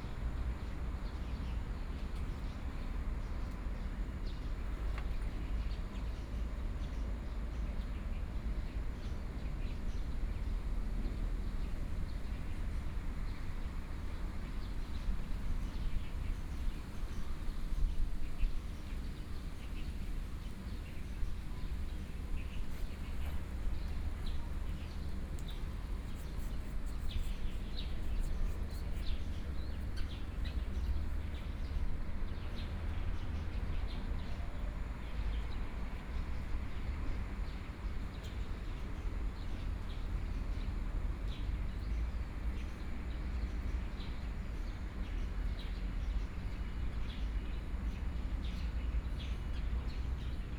Birds singing 0:15.7 - 0:35.5

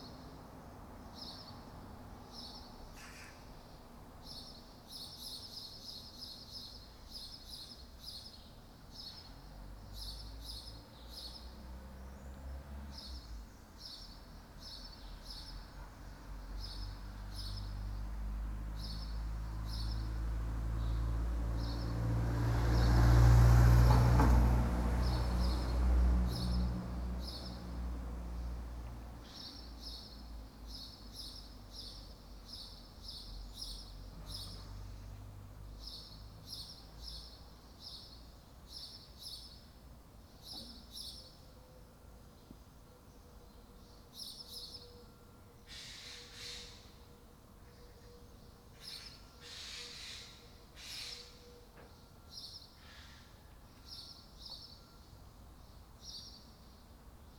morning birds 0:00.0 - 0:57.3

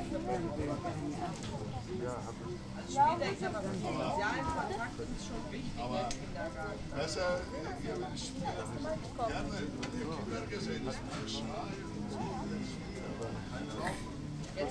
venders and visitors of the flea market at a snack stall talking 0:00.0 - 0:14.7

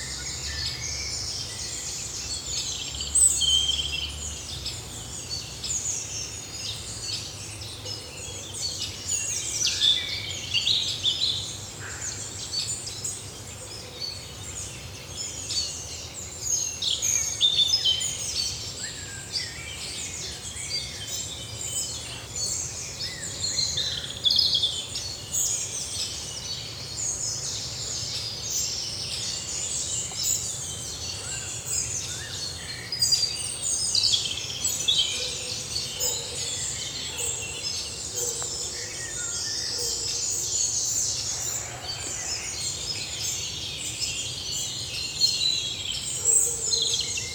Common Buzzard 0:35.3 - 0:42.8

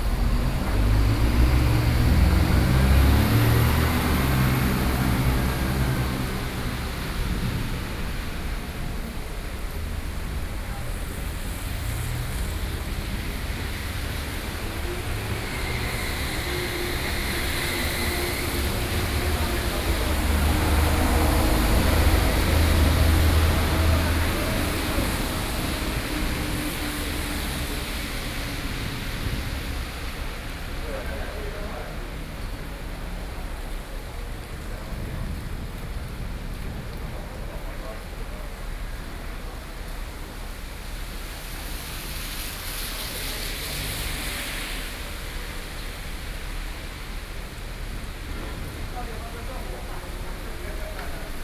Thunderstorm 0:00.0 - 0:51.4

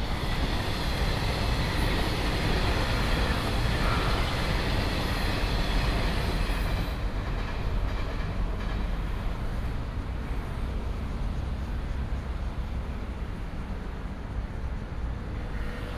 The train runs through 0:00.0 - 0:15.9

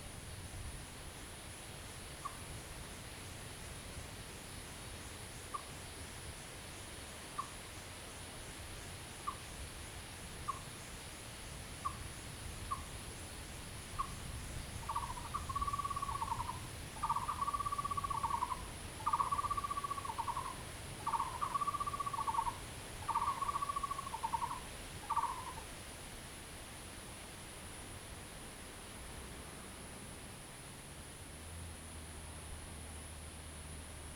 Frogs sound 0:07.3 - 0:07.6
Frogs sound 0:10.5 - 0:10.8
Frogs sound 0:11.8 - 0:25.7
Bird calls 0:14.8 - 0:25.6

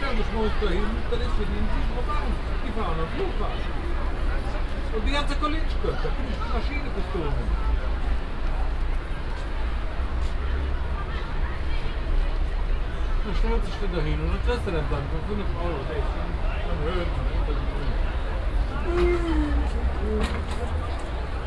konversationen wartender taxifahrer 0:00.0 - 0:07.7
konversationen wartender taxifahrer 0:12.9 - 0:21.2

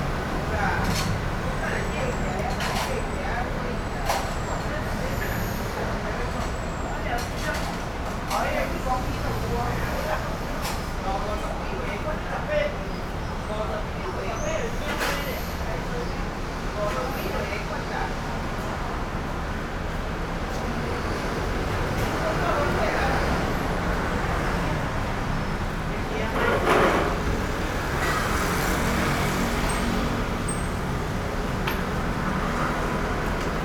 Restaurant staff conversations sound 0:00.0 - 0:33.6
Traffic Noise 0:00.0 - 0:33.6

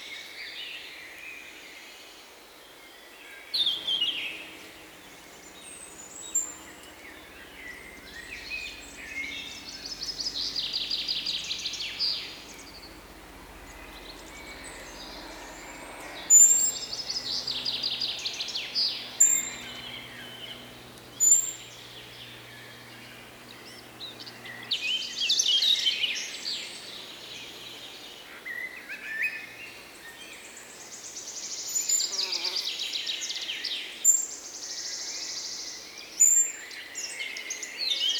bypassing flyes 0:03.6 - 0:32.8
energetic and happy birds 0:03.7 - 0:31.0

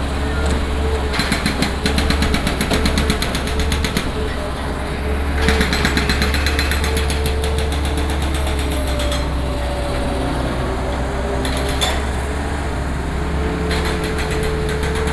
construction 0:00.0 - 0:15.1

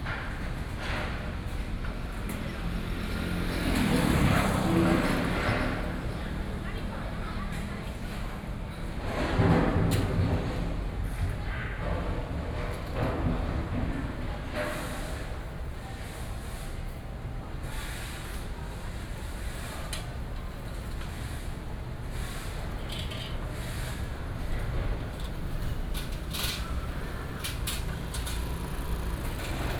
Traffic Sound 0:00.0 - 0:09.5
Traffic Sound 0:10.4 - 0:29.7
Construction Sound 0:20.2 - 0:29.7

